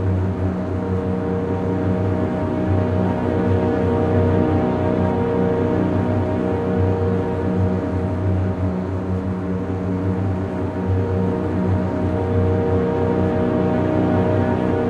0.0s strings 14.8s
0.0s synthesizer 14.8s

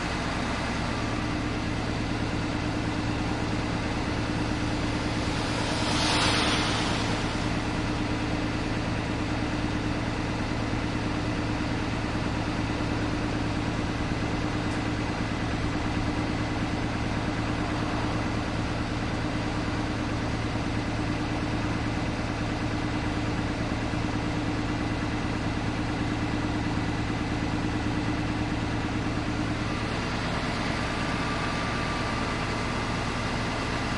0.0s new bus engine idling 33.9s
2.7s traffic noise in background 9.6s

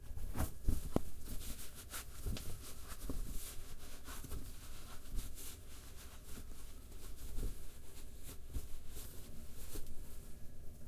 0.0s wiping hands in towel 10.4s

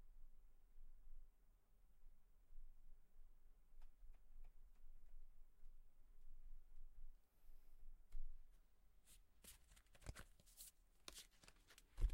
9.1s Cards being handled 12.1s

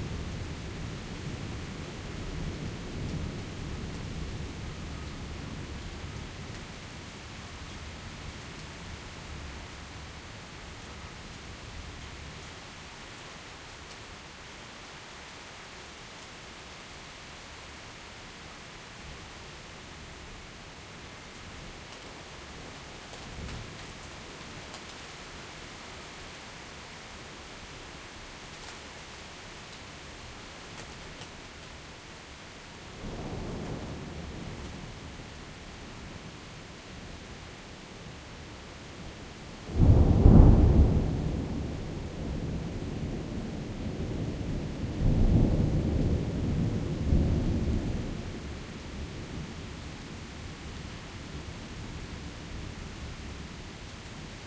0.0s rain 54.4s
39.7s massive Thunderclap 42.7s

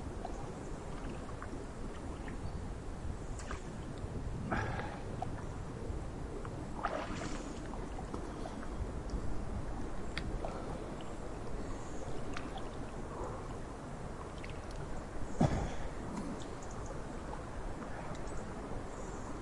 0.0s Swimming in a natural pool 19.4s
14.4s birds 19.4s

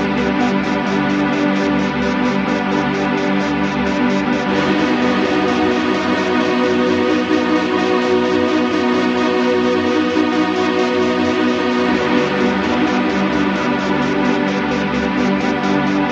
0.0s drone 16.1s

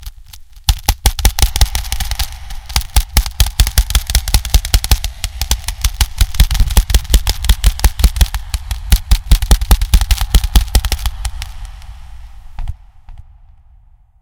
0.7s Artificial gun shots 11.6s

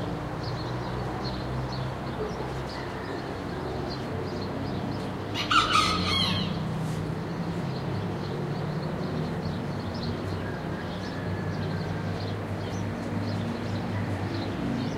0.0s soft traffic noise 14.9s
5.3s roosters crowing 6.8s

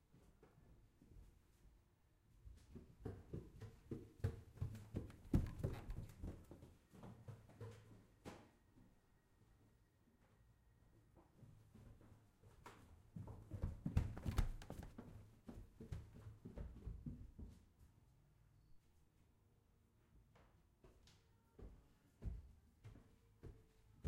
2.4s running up wooden stairs 8.2s
11.4s running up wooden stairs 17.6s

